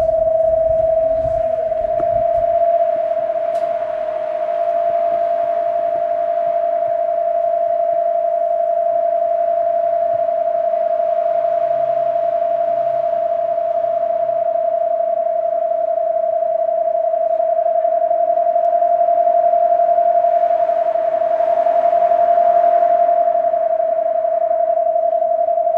sound installation 0.0 - 2.8

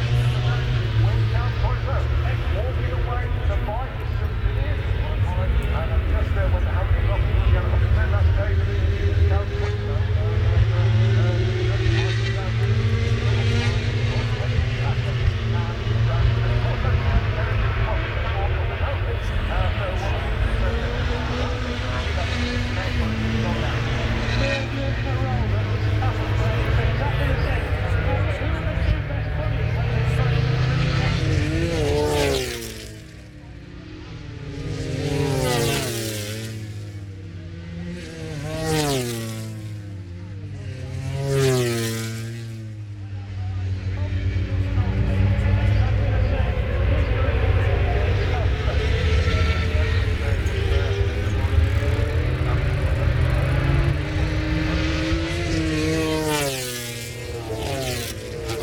motorcycle grand prix 0.0 - 58.6

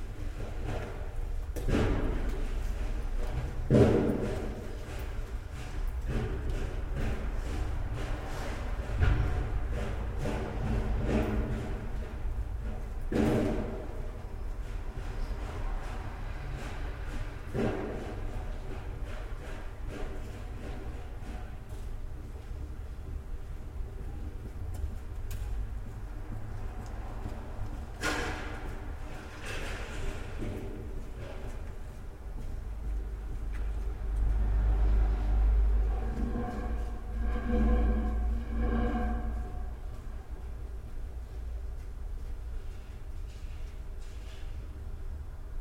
morning snow scraping 35.8 - 40.2

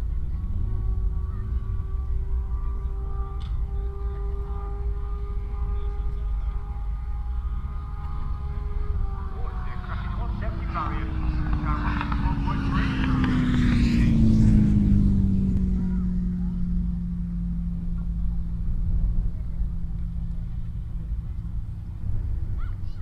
very blustery conditions 0.0 - 23.0

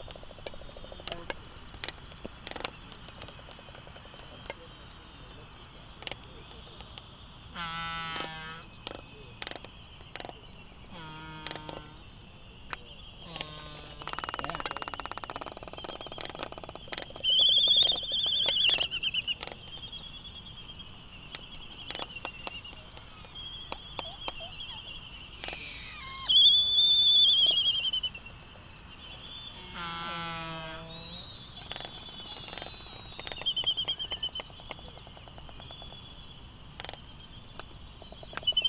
voices 0.0 - 19.8
canary 0.0 - 38.6
Laysan albatross dancing 12.8 - 19.8
voices 21.4 - 28.4
voices 29.0 - 35.9

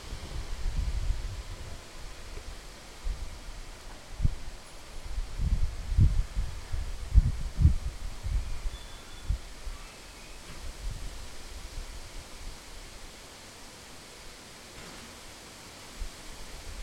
Rainy day 0.0 - 16.8
wind 0.0 - 16.8
footsteps 2.3 - 4.9

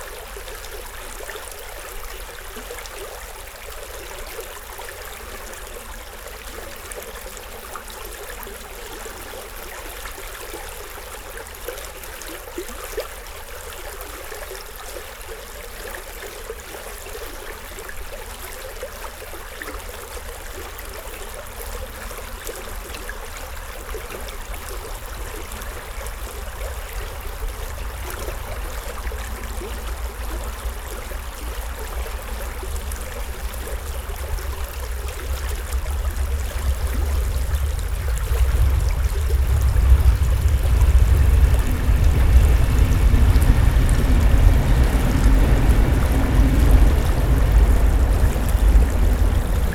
Thyle river flowing 0.0 - 49.7
train quickly passing by 34.9 - 49.7

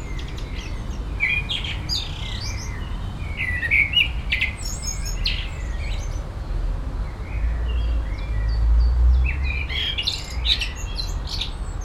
blackbird singing 0.0 - 6.2
windy evening 0.0 - 11.8
blackbird singing 9.2 - 11.8

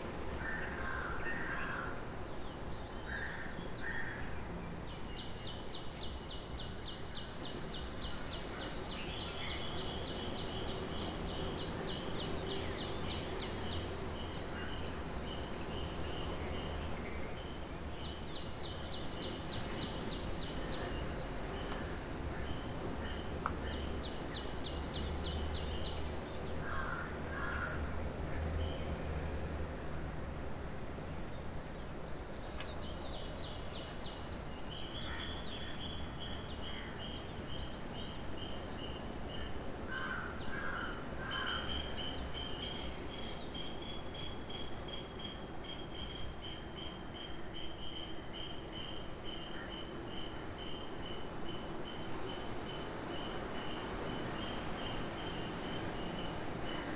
crows 0.4 - 2.0
crows 26.6 - 27.9
various other birds 31.0 - 56.9

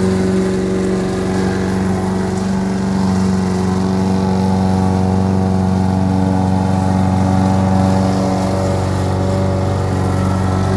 lawn-mower 0.0 - 10.7

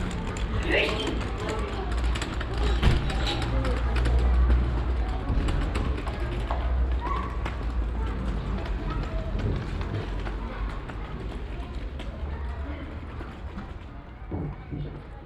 children voices 0.0 - 15.2
steps on the old cobble stone street 0.0 - 15.2
traders voices 0.0 - 15.2
wheels of a small wooden cart 0.0 - 15.2

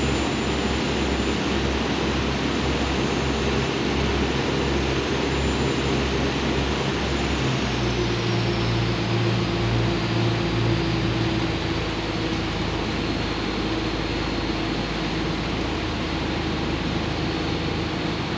traveling on the waterbus 0.0 - 18.3

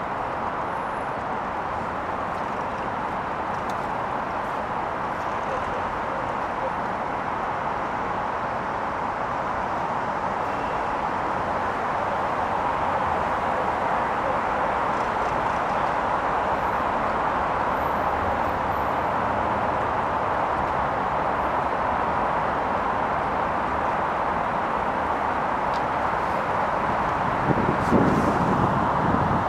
passing cars 0.0 - 29.4

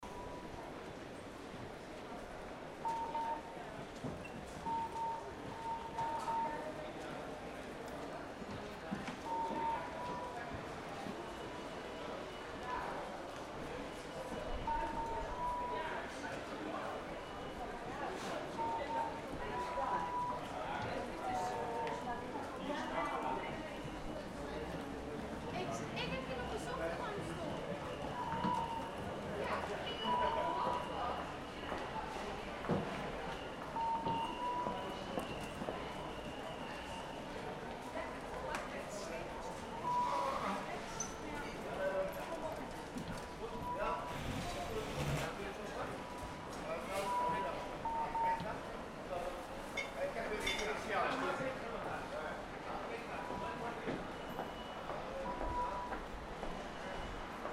people register with their ticekts 0.0 - 57.5
rfid ticket beep 2.8 - 3.5
rfid ticket beep 4.6 - 6.6
rfid ticket beep 27.2 - 29.0
rfid ticket beep 33.3 - 36.3
rfid ticket beep 46.9 - 48.4

